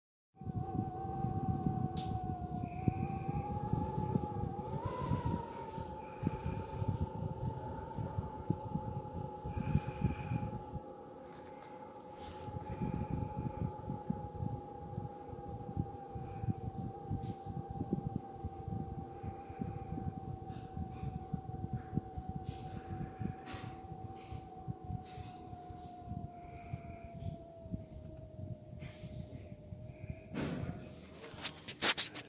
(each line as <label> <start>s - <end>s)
minor howling wind 0.4s - 32.2s